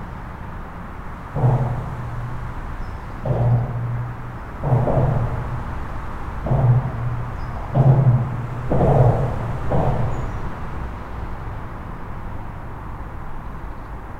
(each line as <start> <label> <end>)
0.0 dense trafic on the local highway 14.1
0.2 bangs sounds are coming from a bridge 13.6